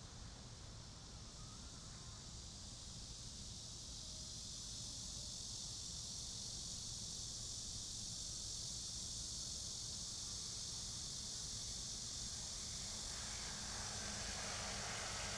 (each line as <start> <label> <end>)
0.2 Cicadas 15.3
10.5 the train running through 15.3
12.0 Traffic sound 15.3